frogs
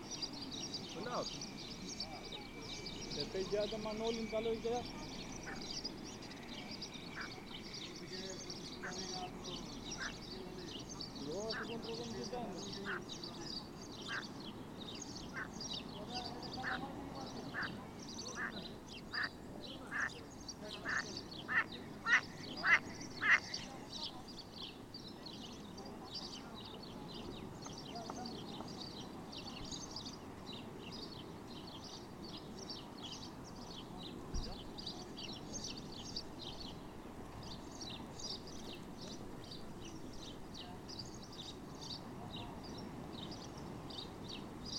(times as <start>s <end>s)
0.9s 10.5s, 16.6s 24.0s